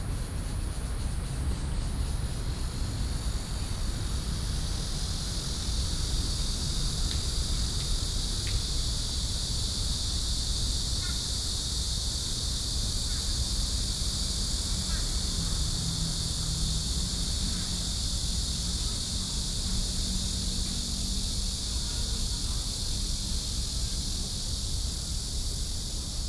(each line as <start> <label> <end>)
0.0 Cicadas cry 26.2